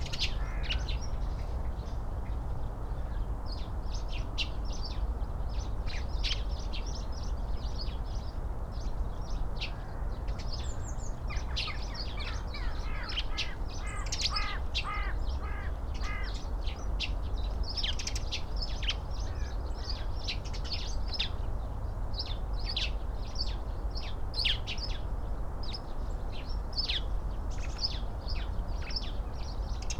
blackbird 0.0 - 2.4
blue tit 0.0 - 2.4
crow 0.1 - 0.9
blackbird 3.0 - 21.4
blue tit 3.0 - 21.4
crow 11.5 - 16.4
crow 19.3 - 20.1
blackbird 25.7 - 29.9

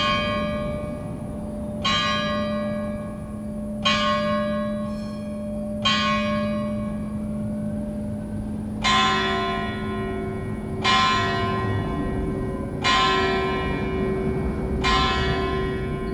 car on the cobblestones 0.0 - 16.1
trams 0.0 - 16.1

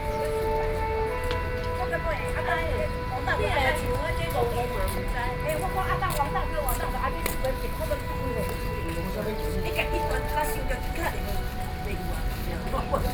Woman selling vegetables 0.0 - 13.1

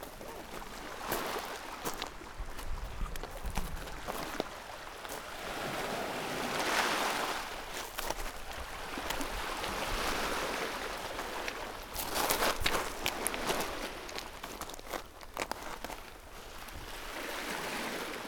stepping on pebbles on the shore 0.0 - 18.1

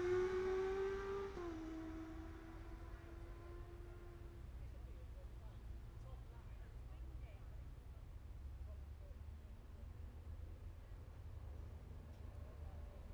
Motorcycle Road Racing 0.0 - 4.6

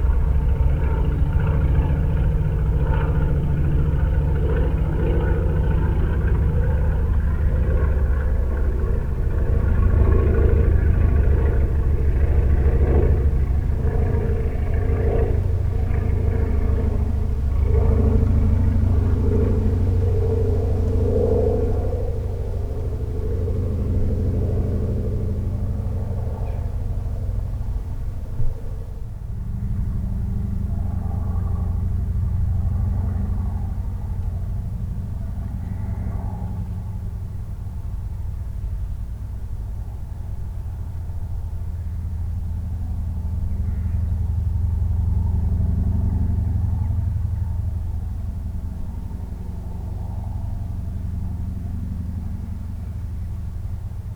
slow-revving engine echoes from the hills 0.0 - 54.1

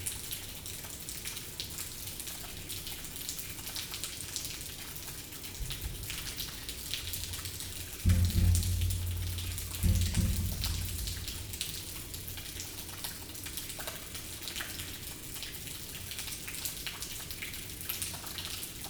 water raining from everywhere 0.0 - 18.8

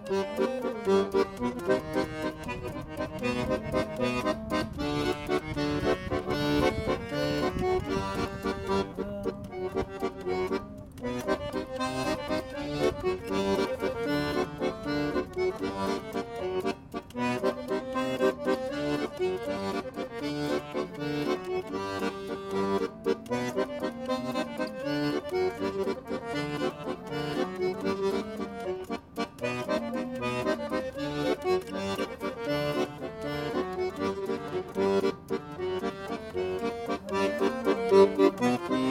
Street musician 0.0 - 38.9

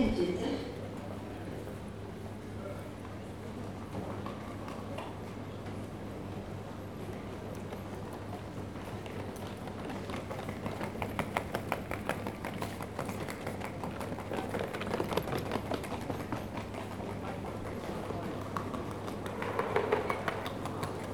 ticking of luggage wheels across the floor tiles 7.5 - 21.1

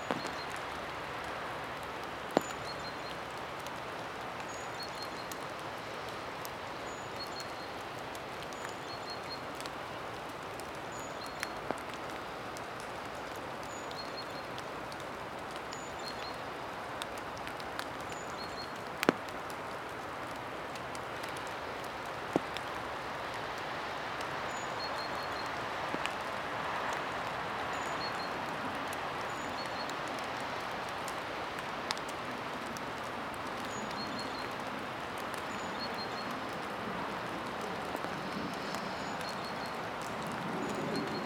Light rain under an umbrella 0.0 - 41.2

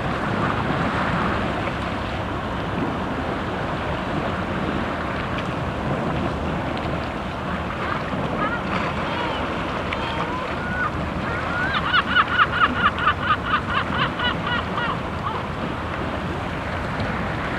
motor boat 0.0 - 17.5
water waves on the sandy beach 0.0 - 17.5
seagull crying in the wind 7.7 - 15.8

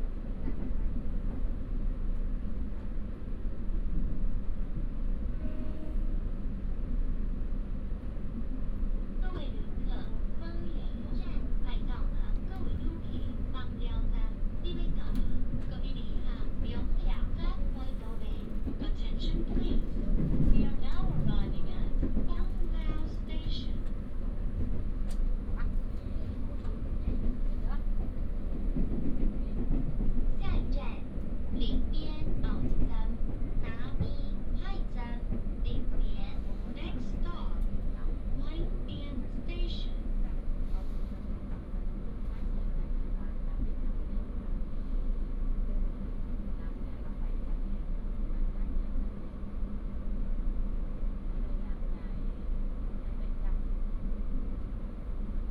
Train news broadcast 9.0 - 49.2

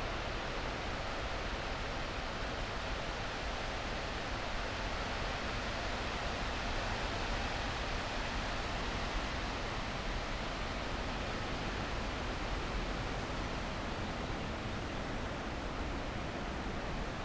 fresh wind in the trees 9.5 - 17.2

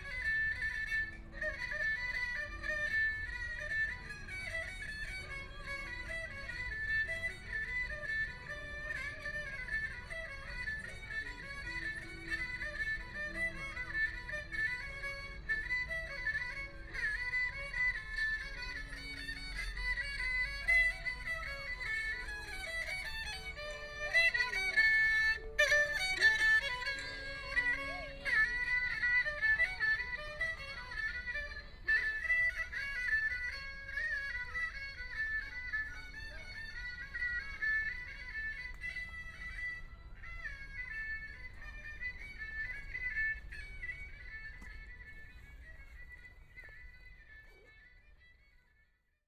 Pull the erhu 0.0 - 48.3

